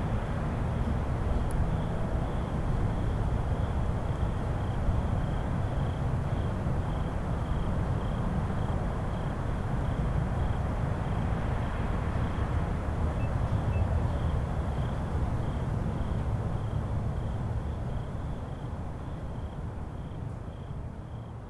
traffic sounds 0:00.0 - 0:21.4
crickets 0:00.0 - 0:21.4

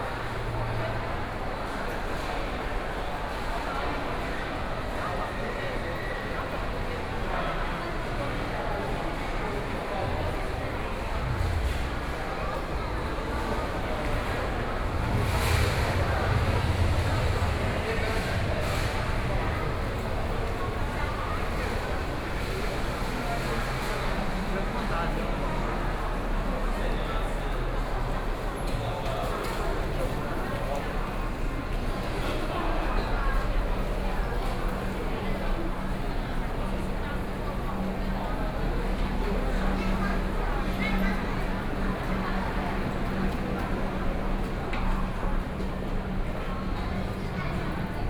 The crowd 0:00.0 - 0:48.0

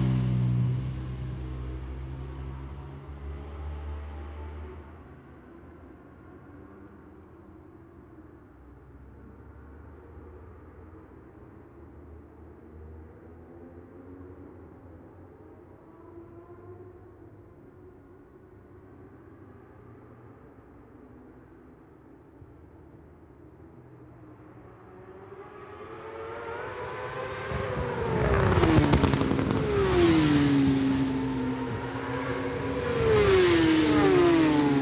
British Superbikes 0:25.4 - 0:34.8

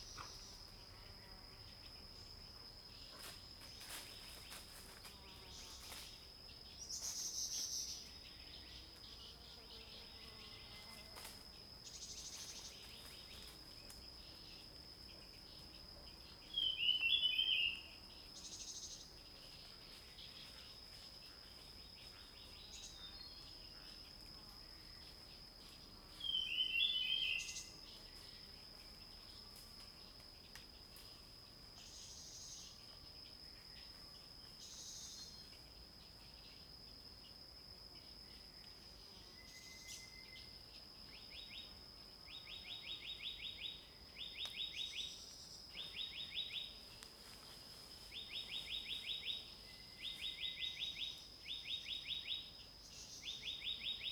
Birds singing 0:15.3 - 0:20.8
Birds singing 0:25.2 - 0:28.1

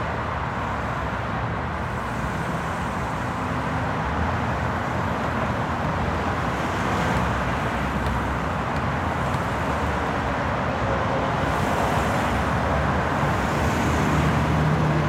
traffic 0:00.0 - 0:15.0
sounds from the basketball park 0:04.0 - 0:13.3

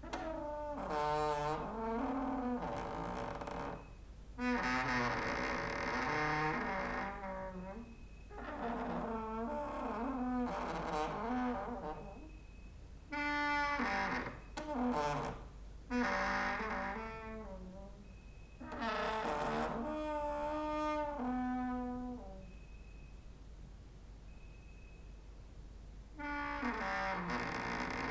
creaking with wooden doors 0:00.0 - 0:23.0
creaking with wooden doors 0:26.2 - 0:28.1

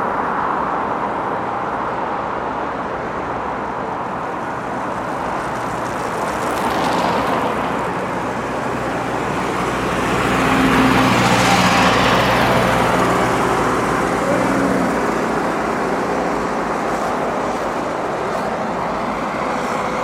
passing cars 0:00.0 - 0:20.0

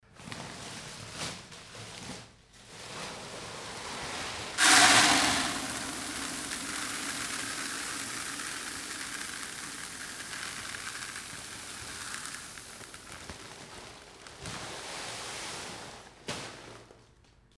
malt that is filled in a grinder 0:04.6 - 0:14.3

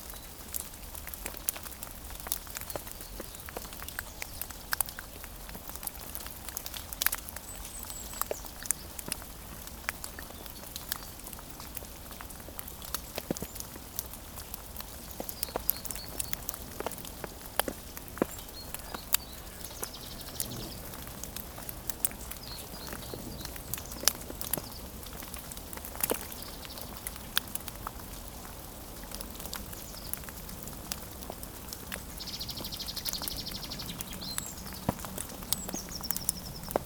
snow is melting 0:00.0 - 0:36.8

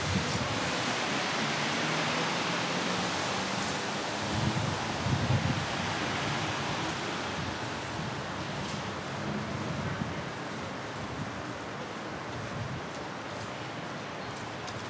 walkers in the street 0:00.0 - 0:14.8

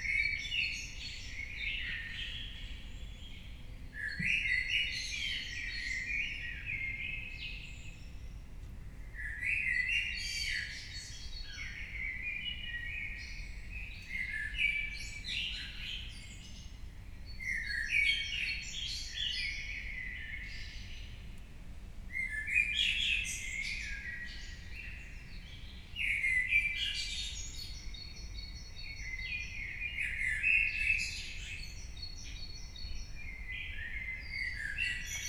early birds 0:22.2 - 0:35.2

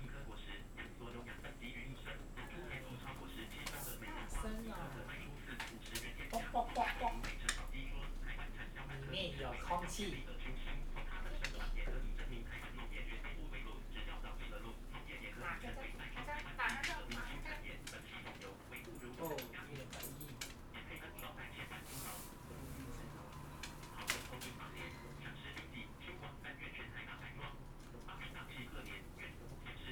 Guide dog and owner 0:00.0 - 0:29.9

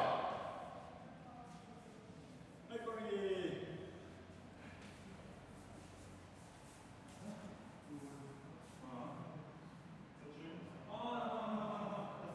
Kendo practice 0:00.0 - 0:00.7

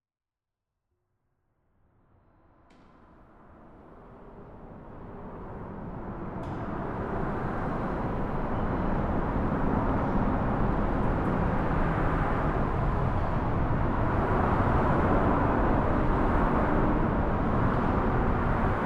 Train Tracks underneath Expressway 0:02.6 - 0:18.8

